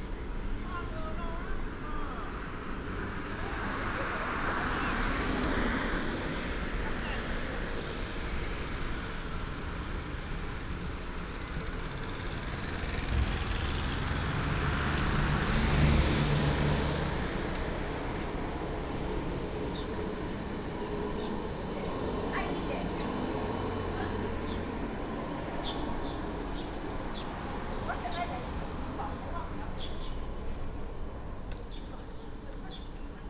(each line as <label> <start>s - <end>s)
traffic sound 0.0s - 33.2s
Birds sound 18.9s - 30.3s